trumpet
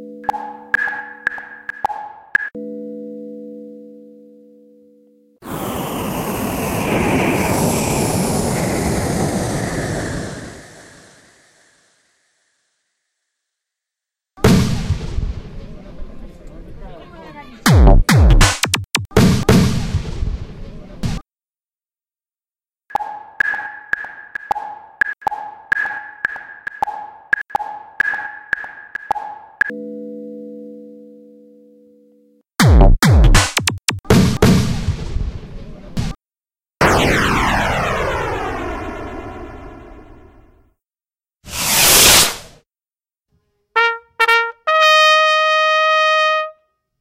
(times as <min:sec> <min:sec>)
0:43.8 0:46.7